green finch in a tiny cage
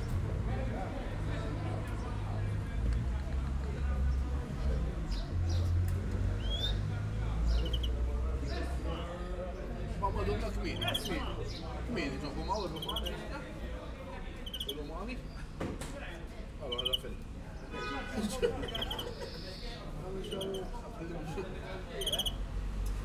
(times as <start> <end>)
4.0 15.6, 16.5 23.0